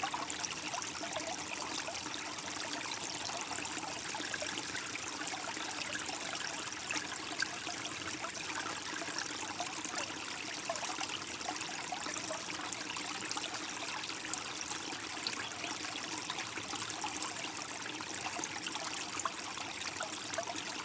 0.0s Small stream 20.8s

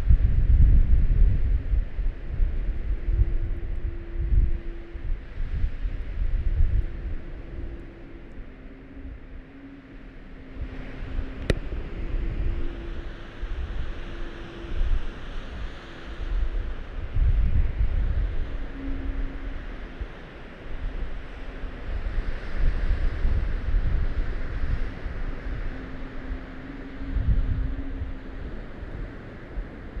0.0s wind ocarina on transmitter mast 30.0s

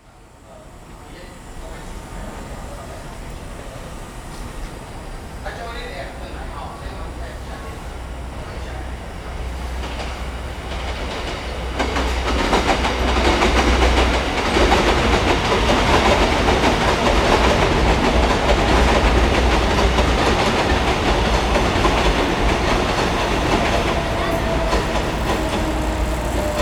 0.0s Train traveling through 26.6s

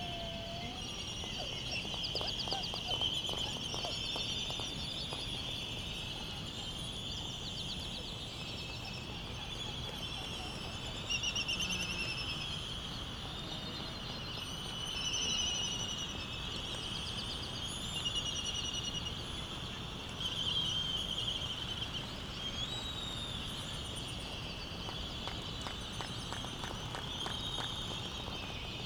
0.1s white terns 28.8s

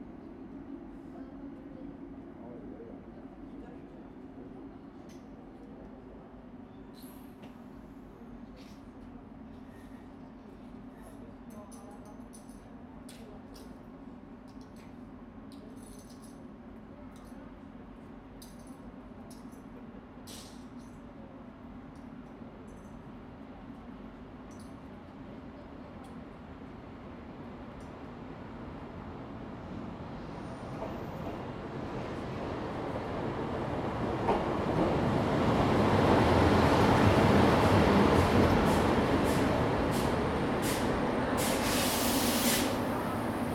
0.0s I'm getting on the train 43.5s
24.6s train arrival 43.5s

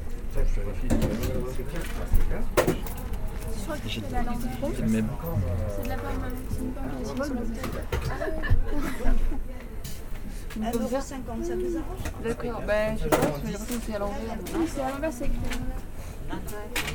3.6s persons speak about the good food 7.8s

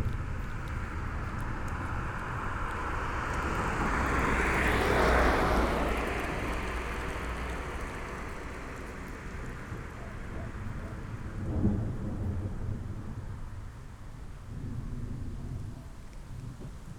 9.7s thunderstorm arrives 16.9s

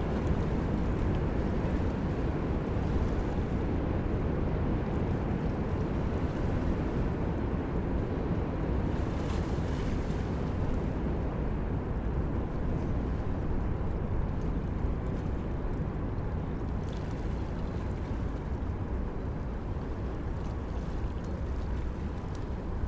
0.0s river 22.8s

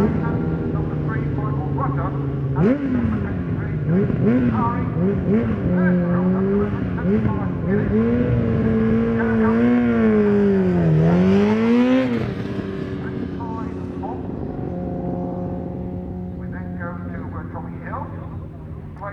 0.0s British Superbikes 19.1s

